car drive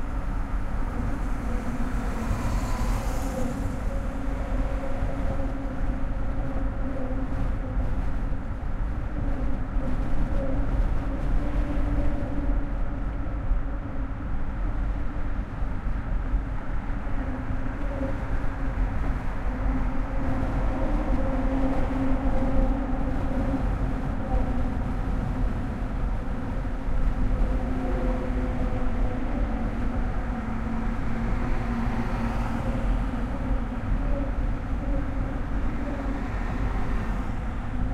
28.2 37.9

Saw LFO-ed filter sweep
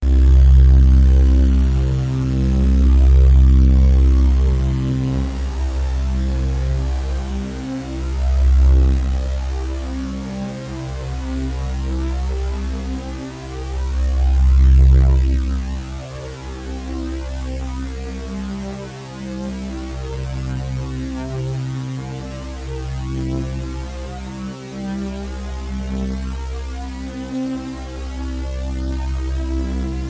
0.0 18.7

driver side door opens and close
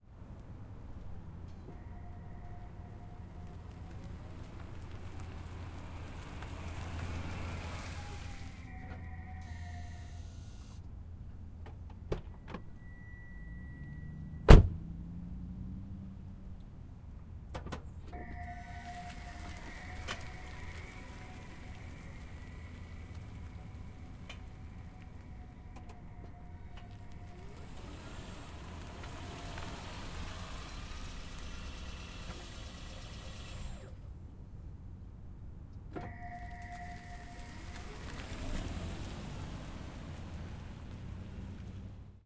14.4 14.8, 17.5 34.0

